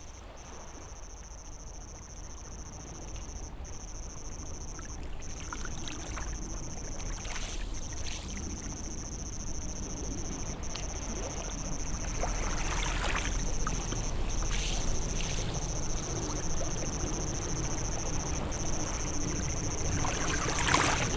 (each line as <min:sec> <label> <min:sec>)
0:08.0 Wave Sound 0:21.1